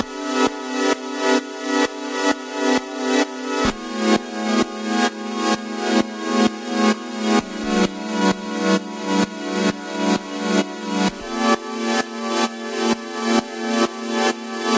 square pad wave 3.6 - 4.2
square pad wave 7.4 - 8.0
square pad wave 11.1 - 11.6

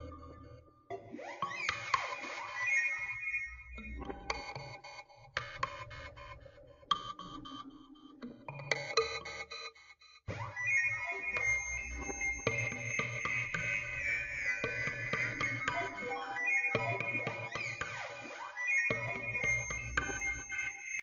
kalimba home made with some delay 0.0 - 21.0

